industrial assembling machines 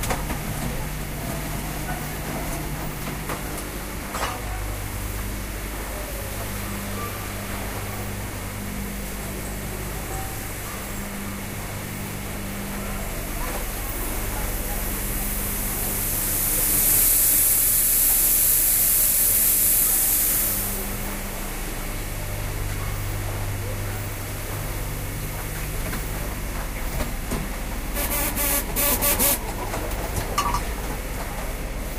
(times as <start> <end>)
22.5 31.9